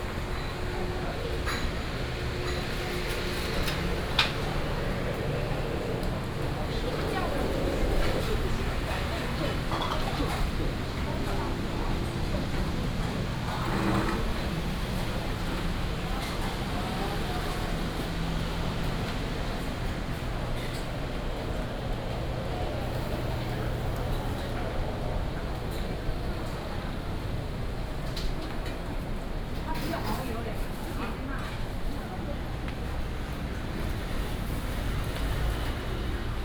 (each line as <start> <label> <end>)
0.0 Traffic Sound 29.0